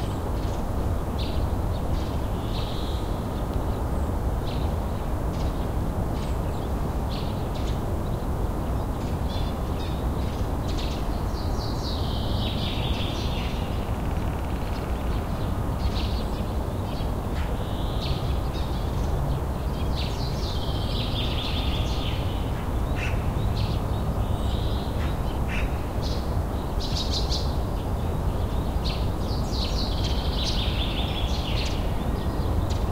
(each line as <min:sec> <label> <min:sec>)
0:00.0 Hum of city 0:32.9
0:09.3 Chirping of magpies 0:27.6
0:28.4 Chirping of magpies 0:32.9